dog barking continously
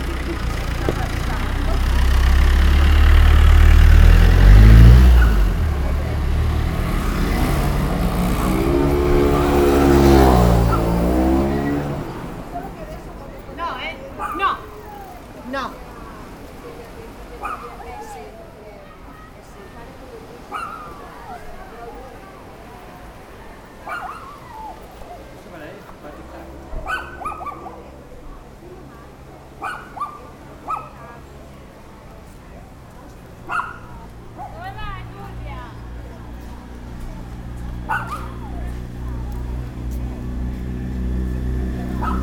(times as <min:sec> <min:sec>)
0:09.9 0:11.4, 0:14.1 0:14.8, 0:17.4 0:18.1, 0:20.4 0:21.5, 0:23.7 0:25.3, 0:26.7 0:28.0, 0:29.5 0:31.2, 0:33.4 0:34.9, 0:37.8 0:38.9, 0:41.8 0:42.2